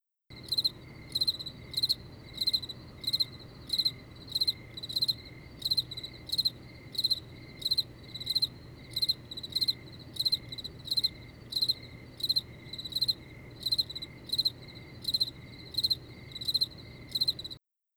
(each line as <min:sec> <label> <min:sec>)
0:00.3 Cricket 0:17.6